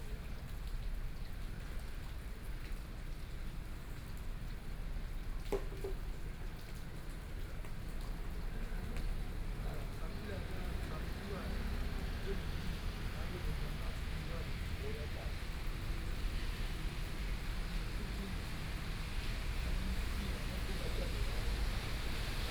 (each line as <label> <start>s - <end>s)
Rainy Day 0.0s - 22.5s
Conversation between a taxi driver 8.2s - 22.5s
traffic noise 8.3s - 22.5s